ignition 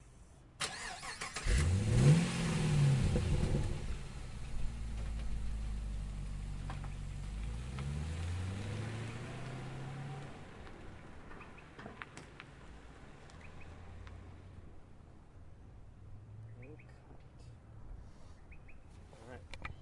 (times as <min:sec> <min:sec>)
0:00.6 0:06.0